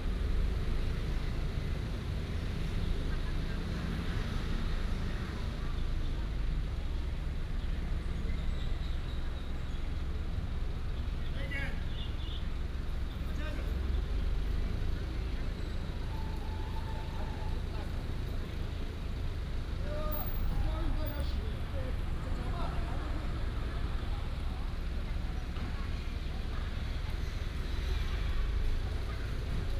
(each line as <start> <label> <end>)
0.0 Traffic sound 29.7